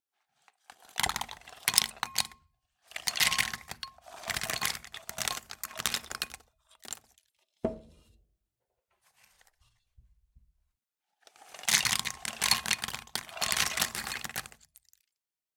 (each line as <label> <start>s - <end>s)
peanuts 0.6s - 7.3s
peanuts 11.3s - 15.2s